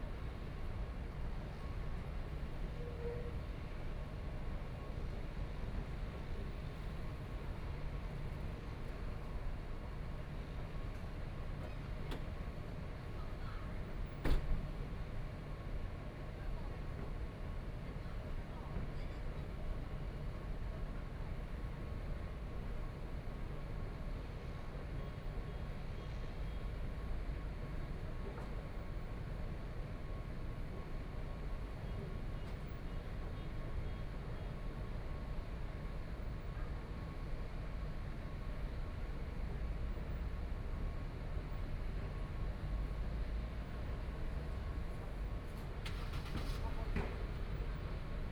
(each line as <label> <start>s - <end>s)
Traffic Sound 44.0s - 48.3s